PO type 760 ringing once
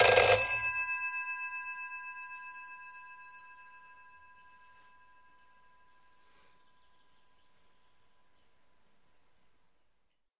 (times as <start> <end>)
0.0 1.4